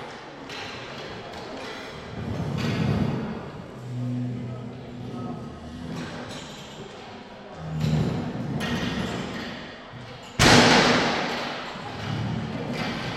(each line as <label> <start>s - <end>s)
men moving chairs and tables 1.1s - 6.8s
men moving chairs and tables 7.5s - 9.6s
men moving chairs and tables 11.8s - 13.1s